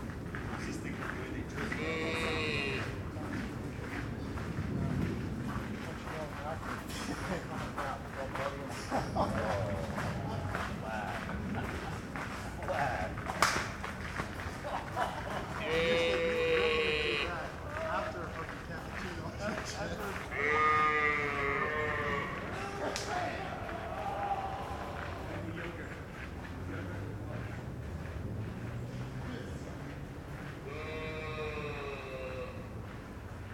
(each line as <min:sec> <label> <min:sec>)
0:01.5 tourist sheep 0:04.0
0:15.5 tourist sheep 0:18.1
0:19.5 tourist sheep 0:25.8
0:30.4 tourist sheep 0:33.1